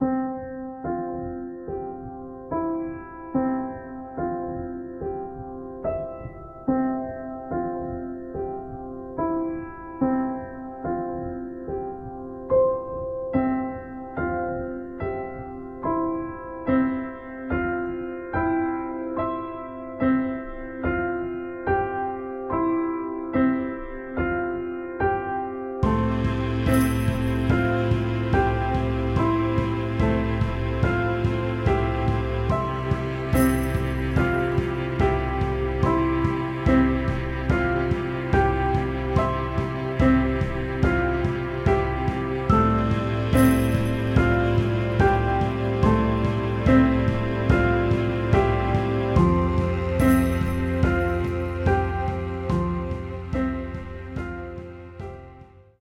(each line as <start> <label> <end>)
0.0 Two harmonising pianos 55.7
24.4 mellotron arrangement 55.7
25.8 tambourine 54.8